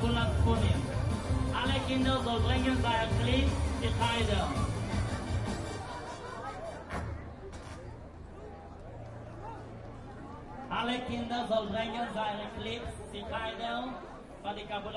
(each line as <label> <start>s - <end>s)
music 0.0s - 7.2s